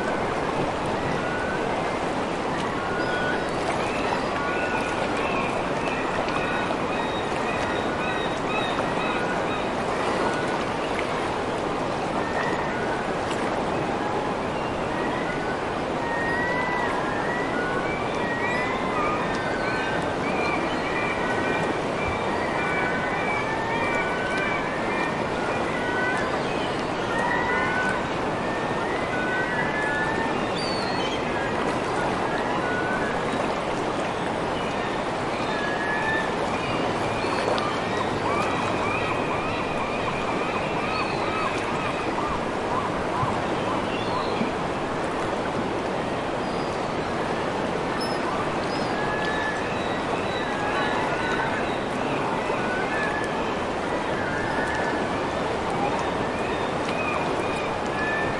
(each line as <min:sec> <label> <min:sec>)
0:16.0 Seagulls 0:31.6
0:35.4 Seagulls 0:43.4